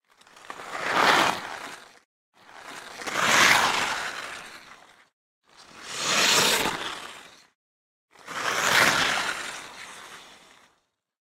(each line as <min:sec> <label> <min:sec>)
0:00.1 player skate by 0:10.8